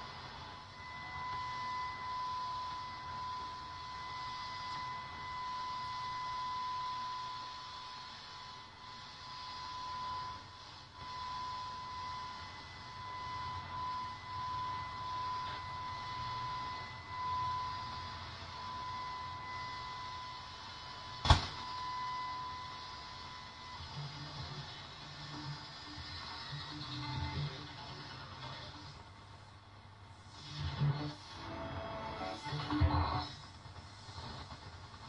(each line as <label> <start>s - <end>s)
tube radio shortwave longwave noise interference dead air 0.0s - 35.0s